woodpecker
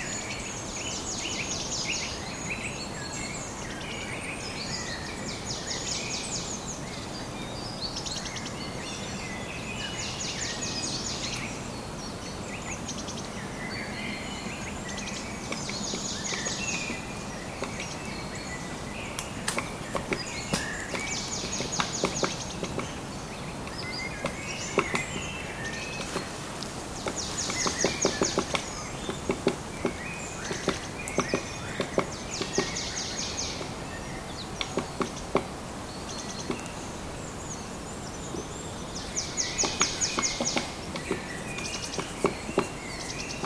13.9 43.4

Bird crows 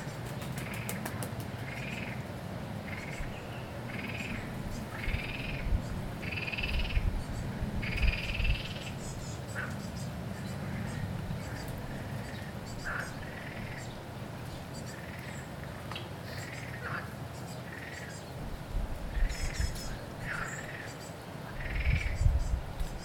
10.7 13.9, 16.2 18.2, 19.2 22.2

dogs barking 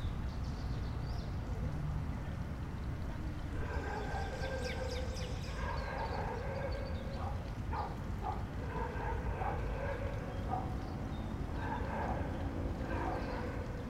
3.6 13.8

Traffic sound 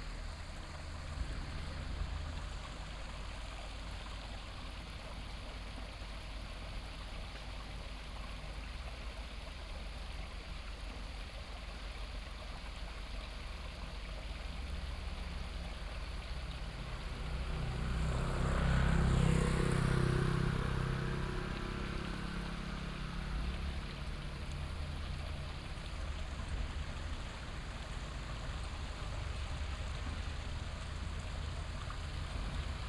0.0 5.1, 14.5 32.8

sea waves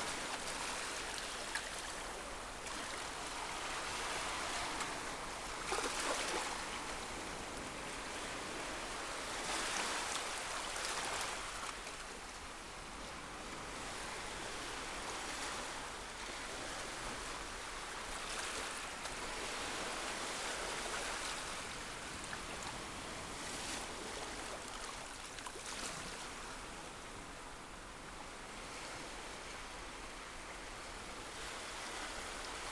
0.0 11.7

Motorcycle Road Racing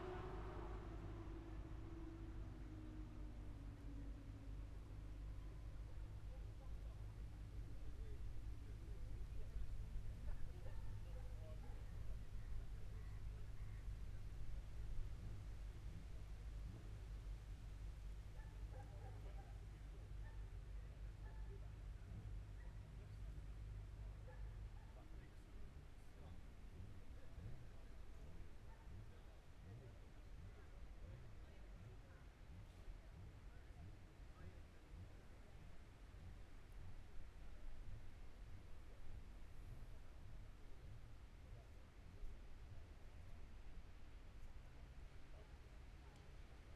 0.0 6.3

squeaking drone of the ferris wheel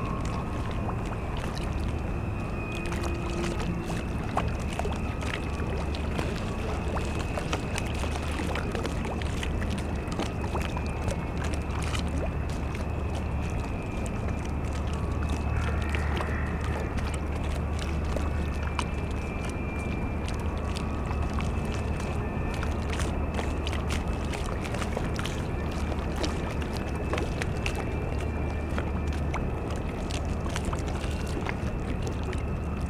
0.0 8.2, 12.3 23.6

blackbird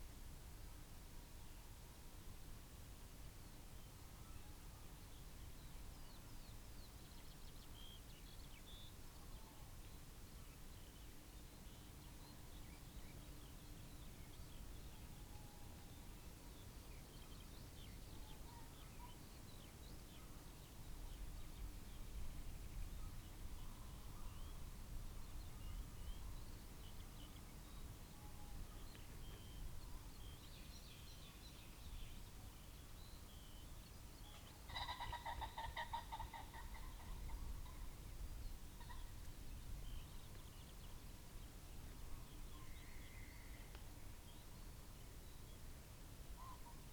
33.0 37.9

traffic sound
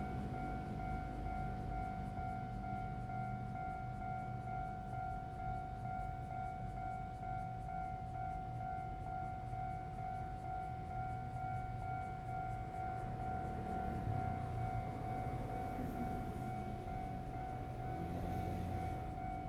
0.0 3.5, 10.6 19.4

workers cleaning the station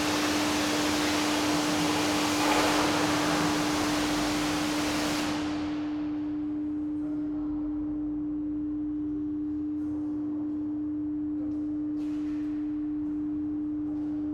0.0 5.7

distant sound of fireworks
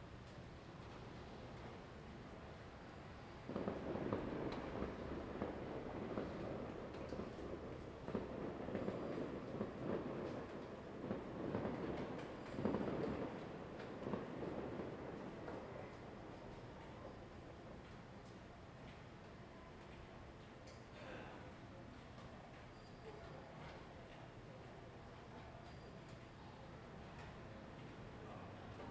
0.8 18.1

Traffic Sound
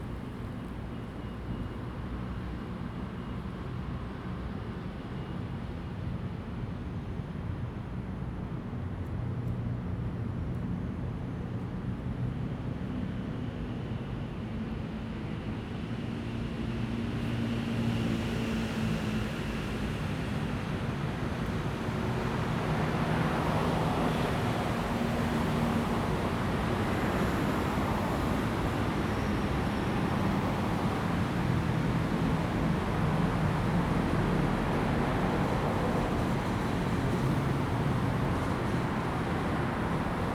22.6 40.3

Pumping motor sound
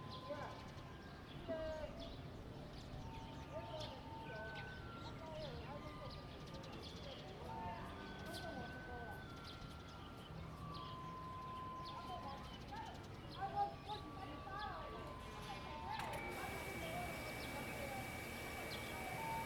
16.0 19.4

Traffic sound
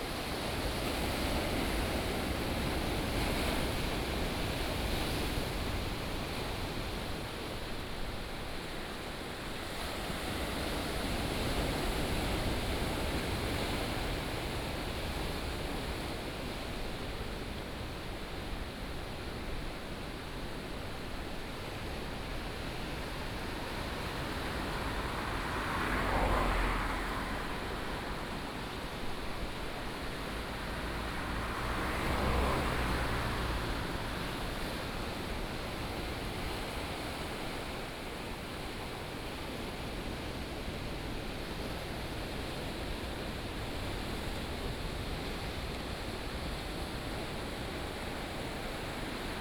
20.8 41.2

